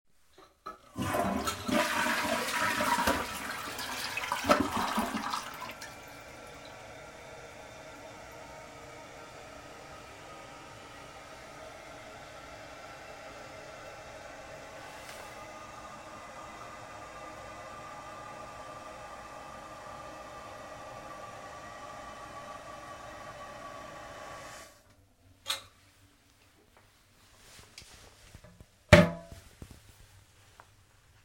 toilet flushing 0:00.6 - 0:24.8
filling it's tank 0:00.7 - 0:09.9

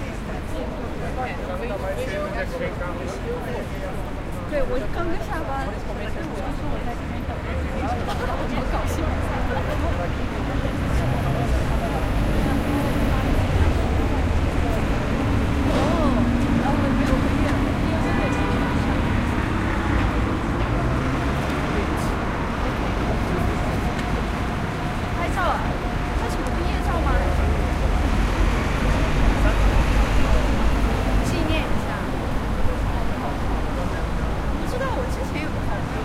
people 0:00.0 - 0:36.0
traffic 0:00.0 - 0:36.0

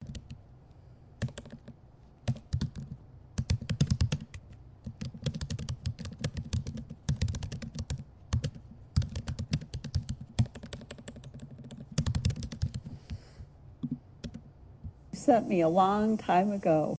typing 0:00.0 - 0:00.4
typing 0:01.2 - 0:12.9

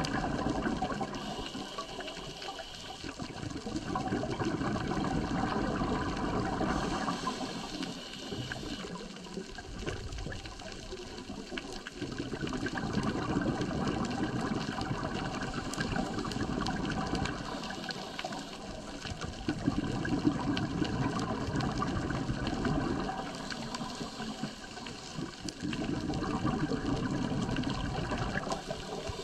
Scuba bubbles 0:00.0 - 0:29.2
breathing 0:01.1 - 0:03.2
breathing 0:06.6 - 0:08.9
breathing 0:17.4 - 0:19.2
breathing 0:23.2 - 0:25.1
breathing 0:28.5 - 0:29.2

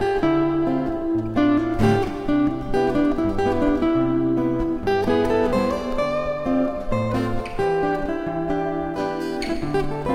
Rythm and solo guitar 0:00.0 - 0:10.1

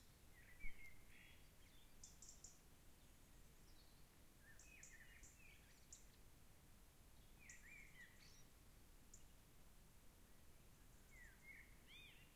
Forrest birds 0:00.0 - 0:12.3

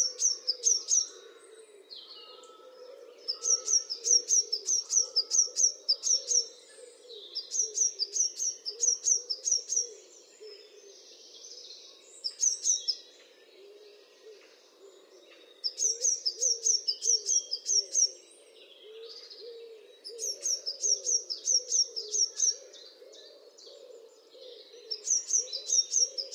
peacock 0:00.0 - 0:07.1
Robin 0:00.0 - 0:11.0
Blackbird 0:00.0 - 0:26.3
Song Thrush 0:00.0 - 0:26.3
Blackbird Alarm Call 0:03.2 - 0:11.1
Blue Tit 0:03.3 - 0:06.5
Blue Tit 0:15.7 - 0:18.1
Blackbird Alarm Call 0:24.6 - 0:26.3
Blue Tit 0:24.9 - 0:26.3

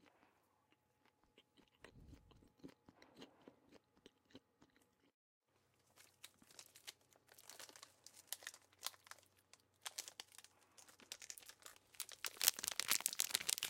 Chocolade Eating 0:00.0 - 0:13.6
opening a pack of chocolate 0:06.0 - 0:13.6

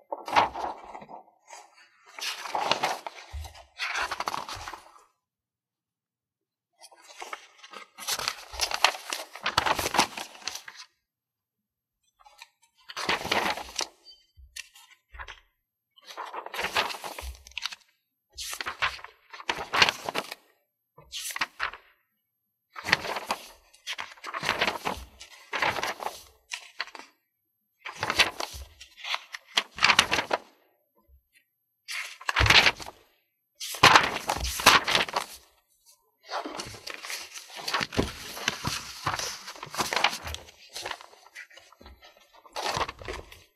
Page Turning 0:13.0 - 0:13.9
Page Turning 0:16.2 - 0:17.8
Page Turning 0:18.4 - 0:20.4
Page Turning 0:22.9 - 0:27.0
Page Turning 0:27.9 - 0:30.4
Page Turning 0:33.6 - 0:35.4
Page Turning 0:36.3 - 0:43.4

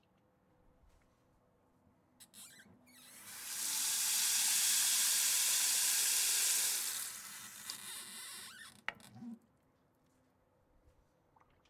sink running 0:03.1 - 0:07.8

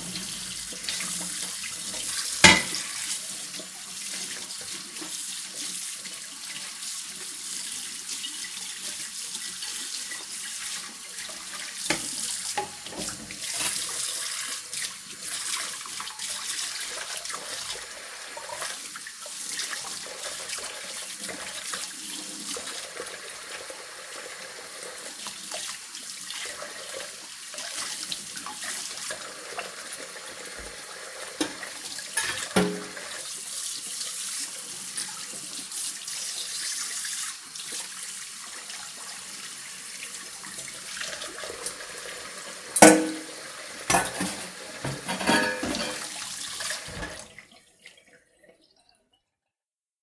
Washing dishes 0:00.0 - 0:48.8

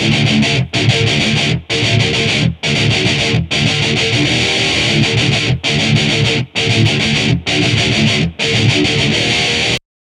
rythum guitar loops 0:00.0 - 0:09.8

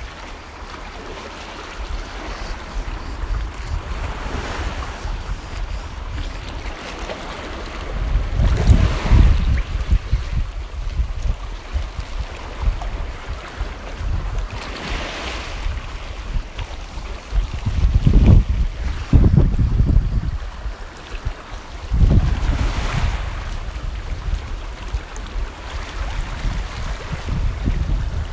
Sea against shore 0:00.0 - 0:28.3

